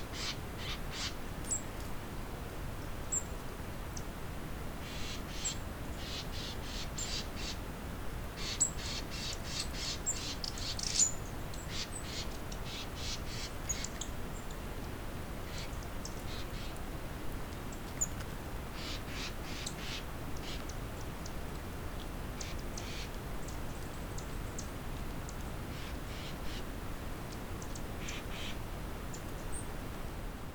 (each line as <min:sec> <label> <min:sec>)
0:00.0 Light winds 0:30.5